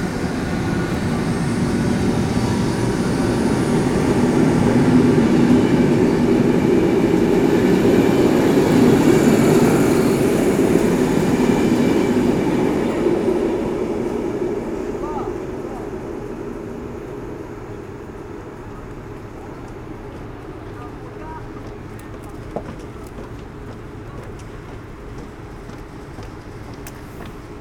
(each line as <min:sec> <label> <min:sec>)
0:00.0 commuters take the train 0:27.6